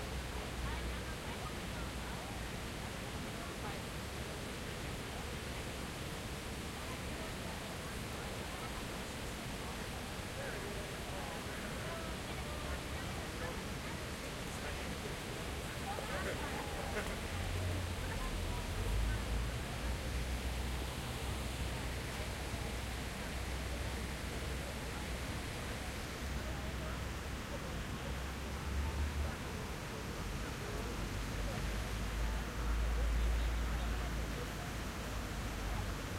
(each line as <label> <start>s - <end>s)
fountain 0.0s - 36.1s
voices around me 0.0s - 36.1s
traffic 14.5s - 36.1s